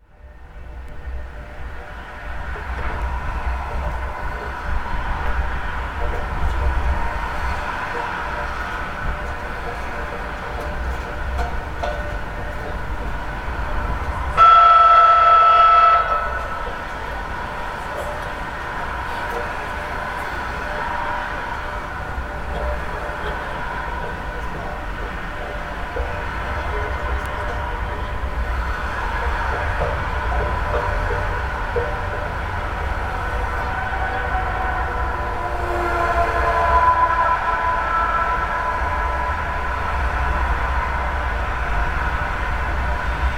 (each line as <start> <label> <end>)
0.0 pedestrian bridge 43.3